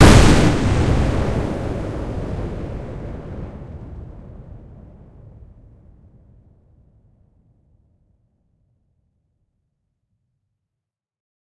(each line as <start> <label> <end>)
0.0 large fireball that rises 5.4
0.0 synthetic explosion sound 5.6